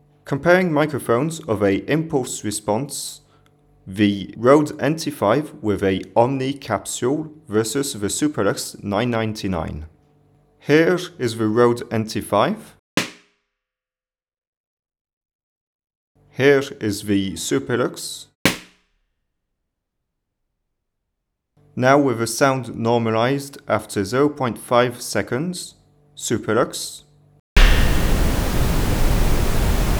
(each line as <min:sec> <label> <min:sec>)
0:13.0 Balloon popped 1m under the microphones 0:13.4
0:18.5 Balloon popped 1m under the microphones 0:19.0
0:27.6 Commentary 0:29.9
0:27.6 noise 0:29.9
0:27.6 reverb 0:29.9